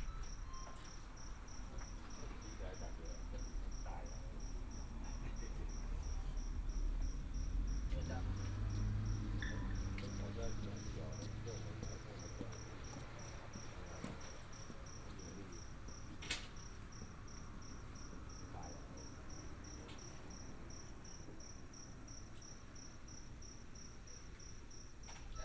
Insect beeps 0:00.0 - 0:21.2
traffic sound 0:00.0 - 0:25.1
heavy motorcycle enthusiasts gather here to chat 0:01.5 - 0:20.6

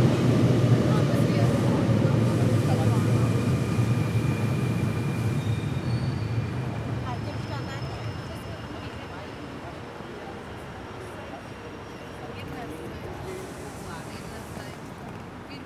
train arrives and departs on another platform 0:00.0 - 0:15.6
waiting passengers talking 0:00.0 - 0:15.6

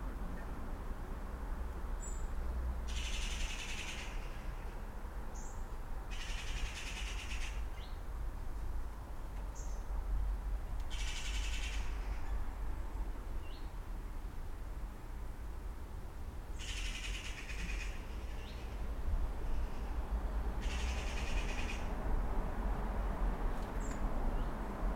Garden Birds 0:05.4 - 0:08.1
Garden Birds 0:09.3 - 0:10.0
Garden Birds 0:10.8 - 0:12.5
Garden Birds 0:13.4 - 0:13.8
Garden Birds 0:23.6 - 0:24.6

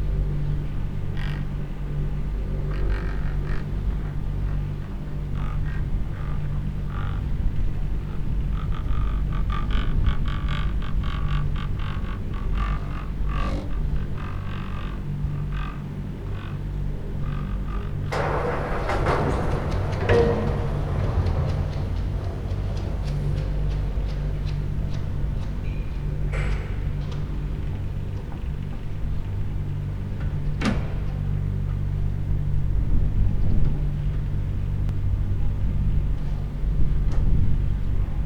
moving cable cars arriving and departing the station 0:00.0 - 0:38.2
hum of the machinery and moving cables 0:17.8 - 0:29.4

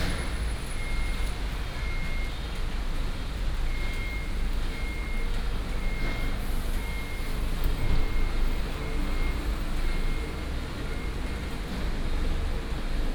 Traffic sound 0:00.0 - 0:00.9
Parking construction sound 0:00.0 - 0:02.3

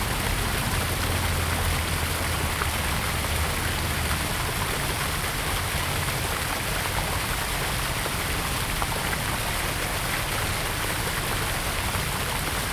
Fountain 0:00.0 - 0:12.7

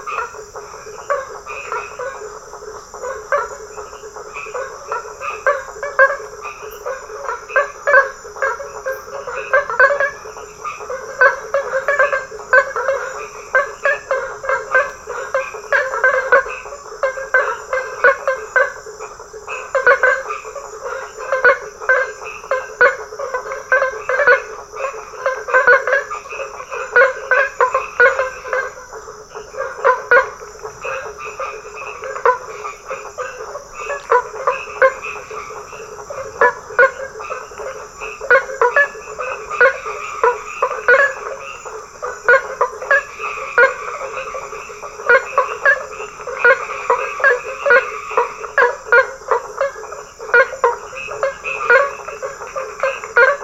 Toads singing 0:00.0 - 0:53.4

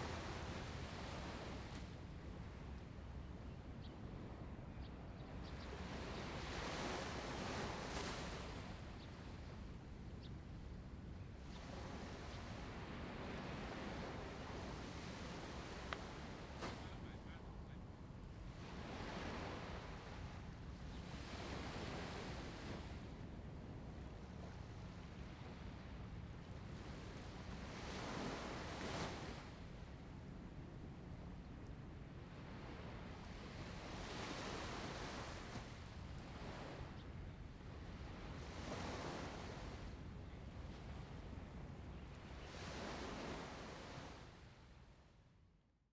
waves 0:00.0 - 0:45.2

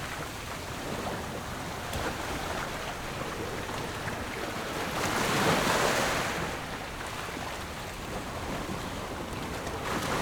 waves 0:00.0 - 0:10.2

